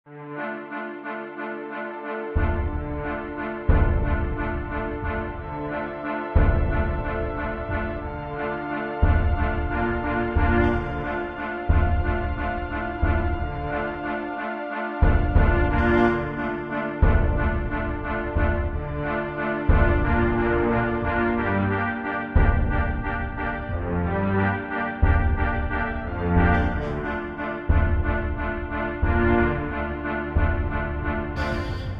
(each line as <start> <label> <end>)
0.1 music 31.9